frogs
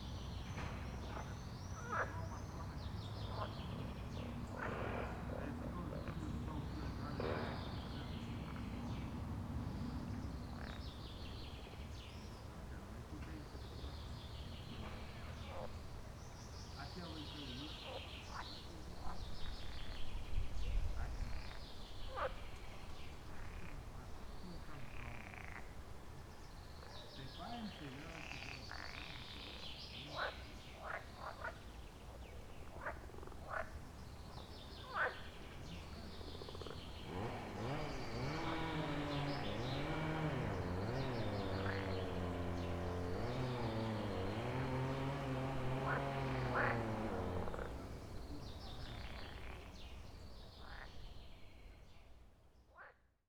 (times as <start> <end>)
26.8 31.7, 32.6 34.0, 34.8 35.4, 50.6 51.0